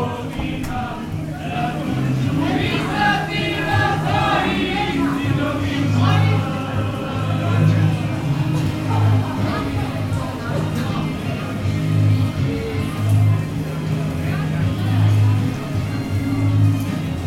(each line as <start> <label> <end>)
0.0 people singing and celebrating 17.2